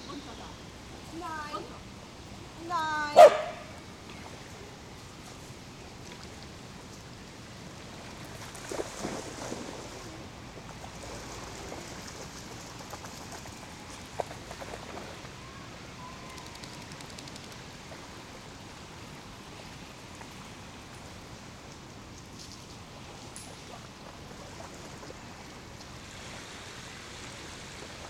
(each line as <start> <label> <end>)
0.0 people talking 1.8
0.0 wind in the trees 28.0
2.6 people talking 3.4
3.2 barking 3.7